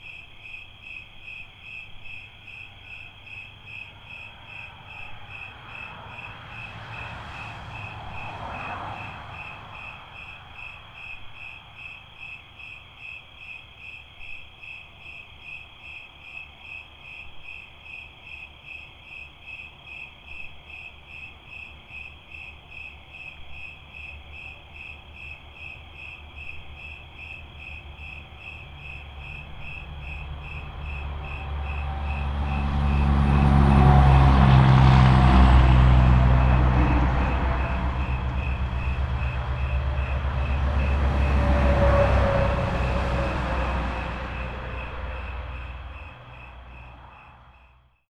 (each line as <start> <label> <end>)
0.0 night peepers on the road 48.0